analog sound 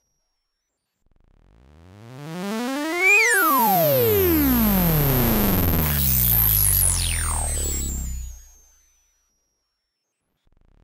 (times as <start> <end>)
2.4 8.5